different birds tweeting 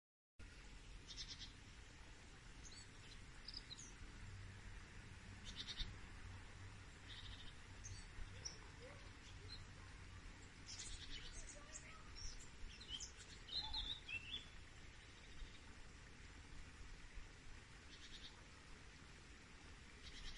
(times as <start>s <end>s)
5.4s 5.9s, 10.5s 14.6s